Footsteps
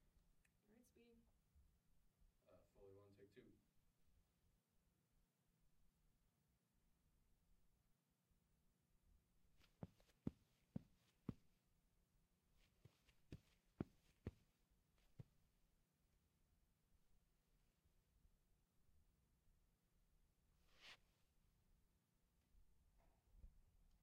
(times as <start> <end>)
9.6 11.4, 12.6 14.4